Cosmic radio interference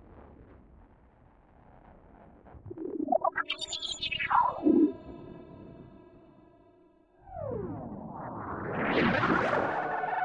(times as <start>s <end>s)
2.7s 3.4s